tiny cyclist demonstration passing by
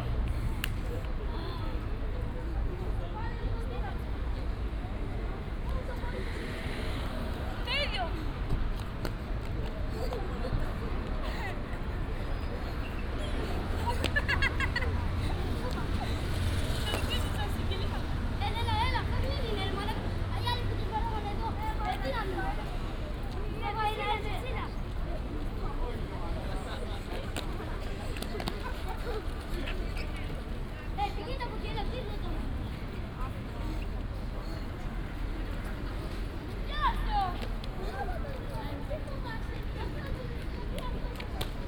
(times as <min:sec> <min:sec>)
0:12.1 0:22.7